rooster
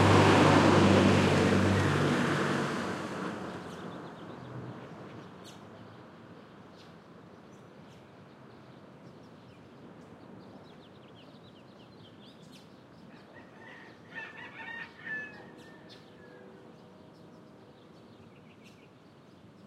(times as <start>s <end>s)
13.1s 16.4s